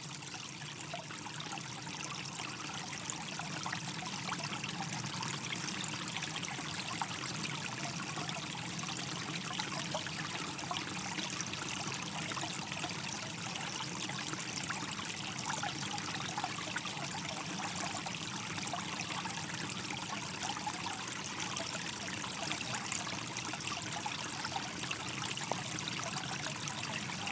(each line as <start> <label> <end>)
0.0 Small stream 27.3